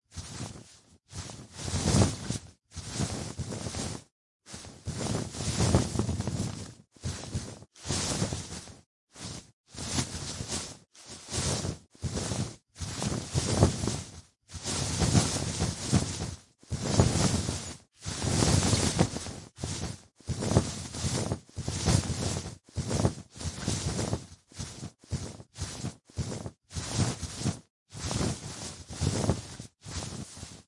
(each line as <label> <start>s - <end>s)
short to medium cloth passes 0.2s - 30.6s